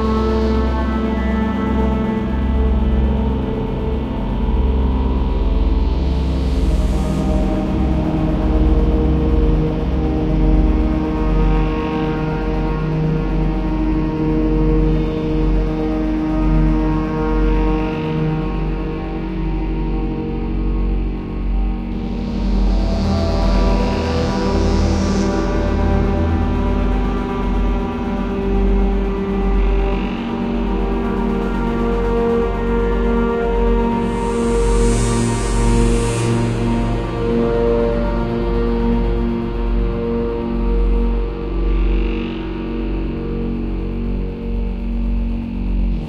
Synth Cyber Poly Drone 0.0 - 46.0

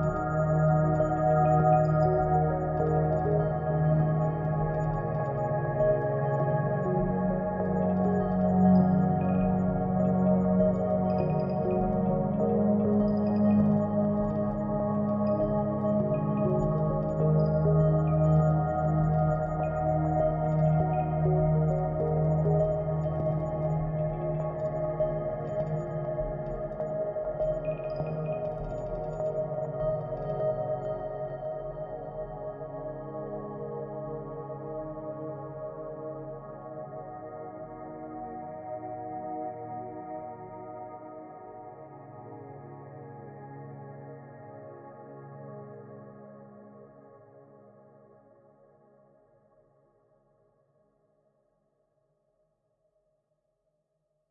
Light and beautiful pad 0.0 - 49.2

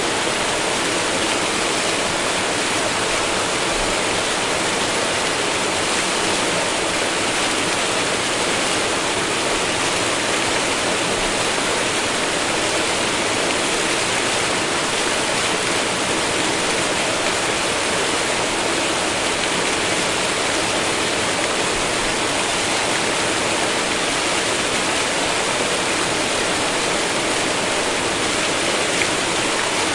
water running trough an almost closed dam 0.0 - 29.9

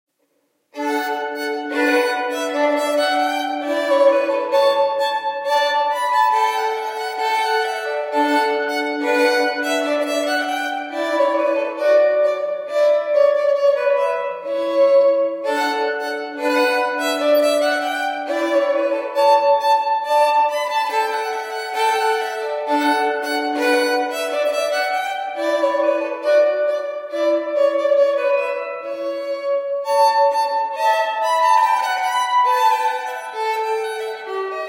Violin Prelude 0.7 - 34.6

